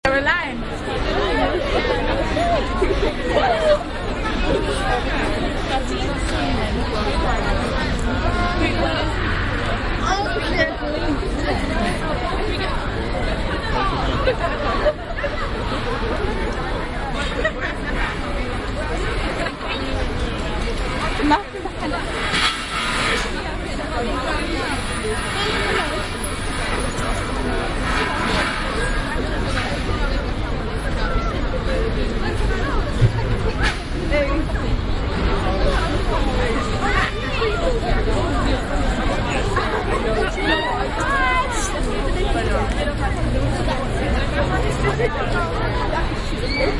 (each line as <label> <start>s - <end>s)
crowd 0.0s - 46.7s